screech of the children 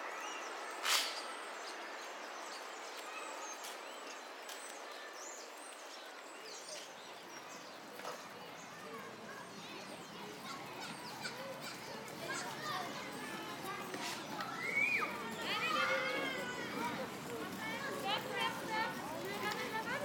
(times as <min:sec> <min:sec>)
0:14.0 0:16.8